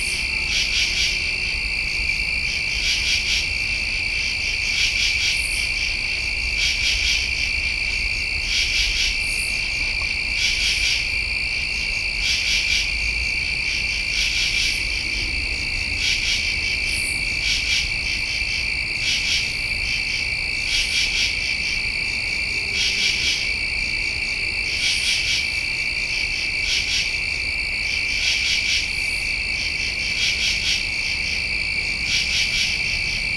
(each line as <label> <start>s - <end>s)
distant train 0.0s - 25.3s
night insects 0.0s - 33.3s